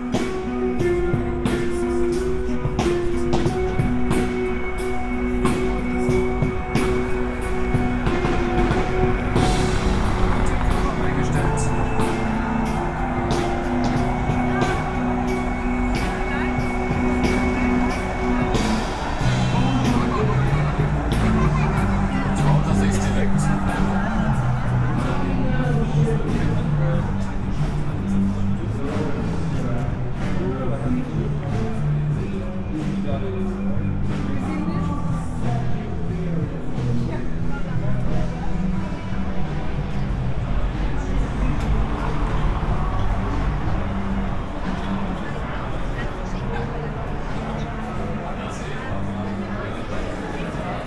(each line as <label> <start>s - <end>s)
band playing 0.0s - 29.0s
soccer world championship public viewing 0.0s - 50.8s